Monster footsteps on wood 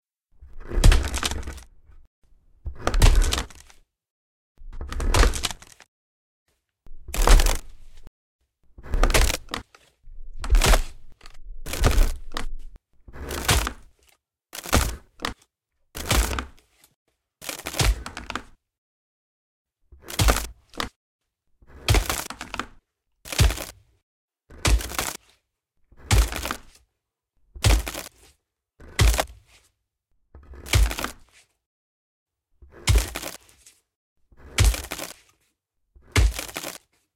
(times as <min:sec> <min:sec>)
0:00.6 0:01.7, 0:06.9 0:08.1, 0:08.8 0:09.6, 0:10.2 0:12.8, 0:26.1 0:26.6, 0:32.8 0:33.4, 0:34.4 0:35.1, 0:36.1 0:36.8